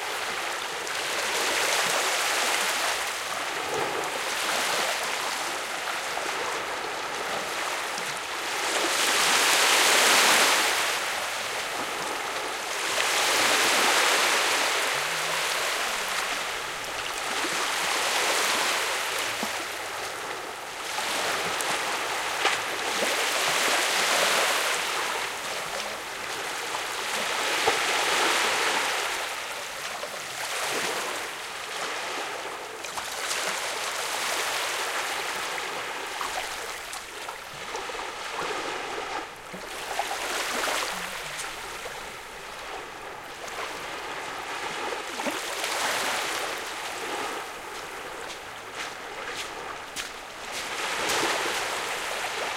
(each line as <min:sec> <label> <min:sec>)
0:00.0 soft waves splashing on a sandy beach 0:52.5